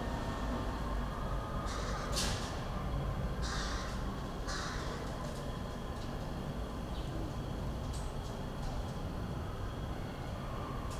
crows 3.4 - 5.1

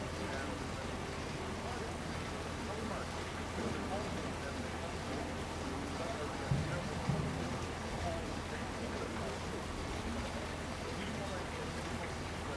Tourists 0.0 - 12.5

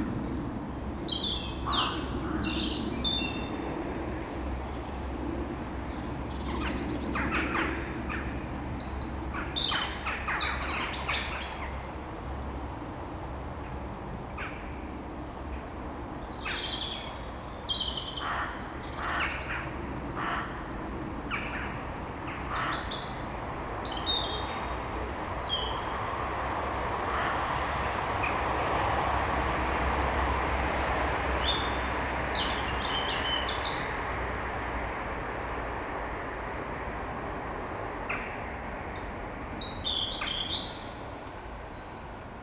cars 0.0 - 42.4
Crows war 1.6 - 2.4
Crows war 6.4 - 8.5
Crows war 18.0 - 23.4
Crows war 27.0 - 28.4

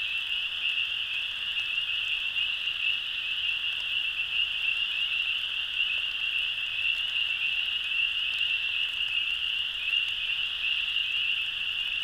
cricket frogs 0.0 - 12.0
crickets 0.0 - 12.0
light rain 0.0 - 12.0
other frogs 0.0 - 12.0
other insects calling constantly 0.0 - 12.0
spring peepers (frogs) 0.0 - 12.0

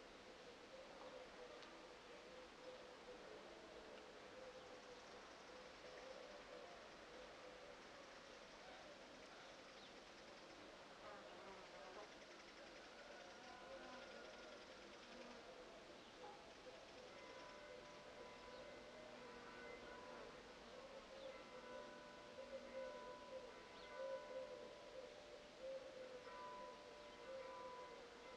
churches ring their bells 16.9 - 28.3

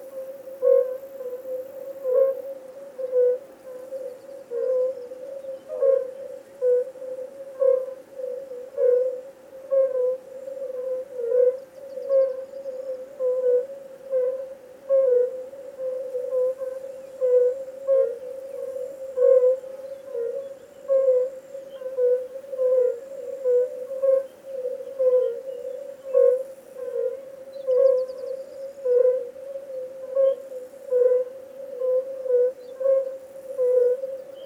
light wind 0.0 - 34.4
birds 16.0 - 34.4

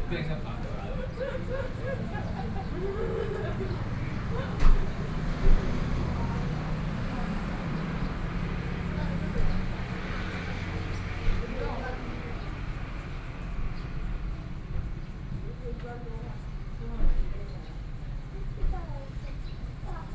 Tourists 0.0 - 20.0
Traffic Sound 0.0 - 20.1

